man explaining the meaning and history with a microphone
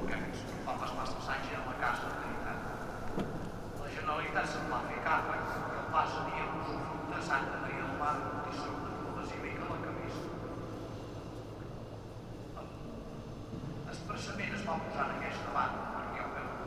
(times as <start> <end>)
0.0 2.9, 3.8 10.4, 13.9 16.6